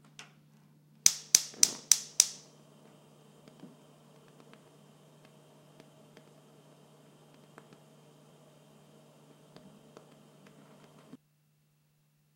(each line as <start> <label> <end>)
1.0 Turning on a stove burner 11.2
1.1 click 2.4